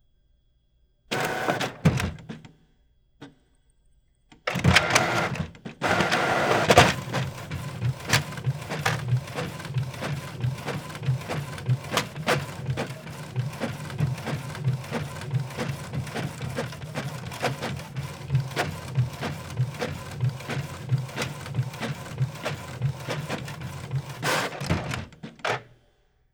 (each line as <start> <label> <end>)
1.1 printer printing 2.4
4.5 printer printing 25.8